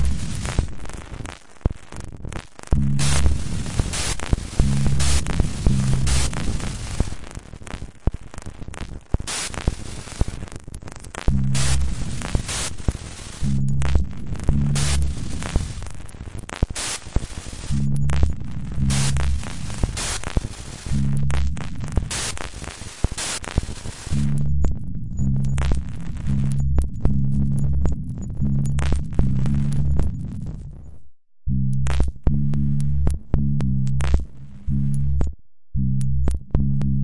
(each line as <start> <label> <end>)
17.7 sines 19.5
24.1 clicks 31.0
24.1 sines 31.0
31.5 random rhythms 37.0
31.7 clicks 35.4
36.0 clicks 37.0